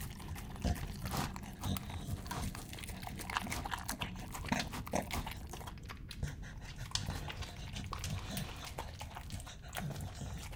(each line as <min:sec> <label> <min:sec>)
0:00.0 Dog Eating from Bowl 0:10.5